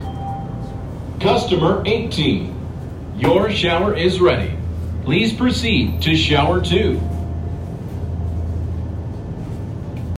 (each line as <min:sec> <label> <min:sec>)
0:01.2 pre-recorded voice 0:02.6
0:03.2 pre-recorded voice 0:07.2